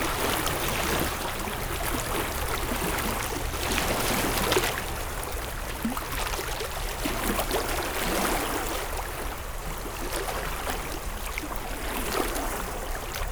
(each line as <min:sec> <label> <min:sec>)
0:00.0 water and waves 0:13.3